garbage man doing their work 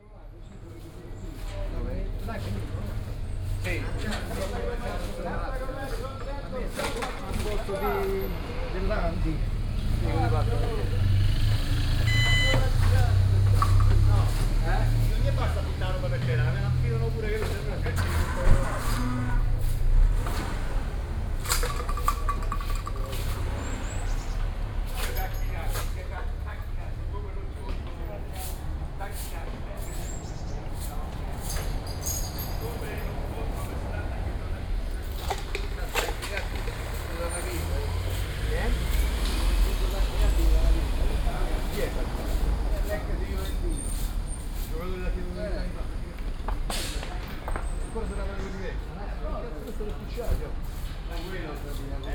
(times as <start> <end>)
9.5 44.9